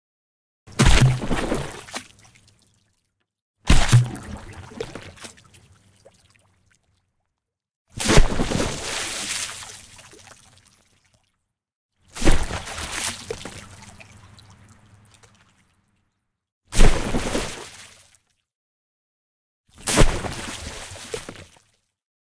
Water Splash Objects falling 0.7 - 2.2
Water Splash Objects falling 3.7 - 5.4
Water Splash Objects falling 8.0 - 9.9
Water Splash Objects falling 12.2 - 14.1
Water Splash Objects falling 19.8 - 21.6

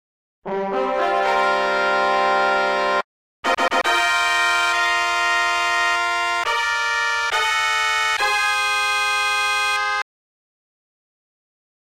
opening trumpet tune 0.5 - 10.0

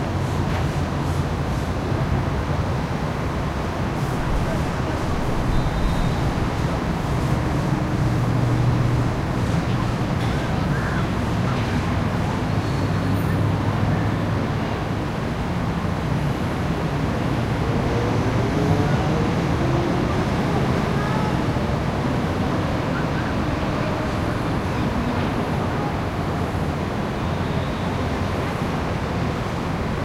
traffic 0.0 - 30.0

